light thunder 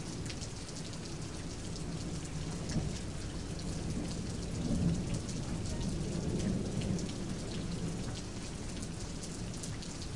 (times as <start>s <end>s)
2.5s 9.3s